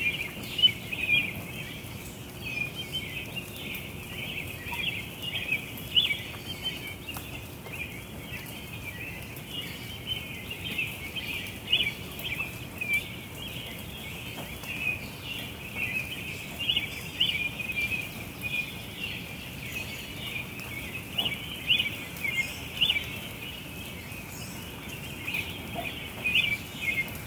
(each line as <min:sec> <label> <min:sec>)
0:00.0 Birds Chirping 0:27.2